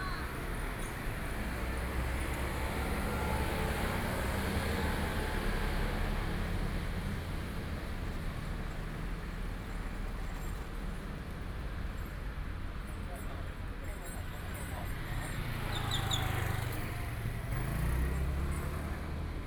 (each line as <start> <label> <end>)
0.0 traffic noise 19.4